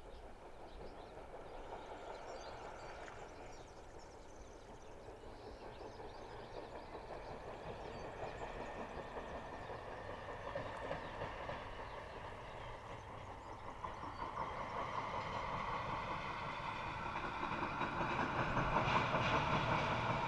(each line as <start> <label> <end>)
0.0 First morning train 20.2